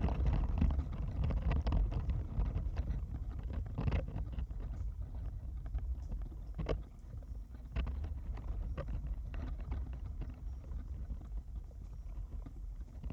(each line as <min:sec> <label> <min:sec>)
0:00.0 birch leaves looked beautiful as they shimmered in the wind 0:13.1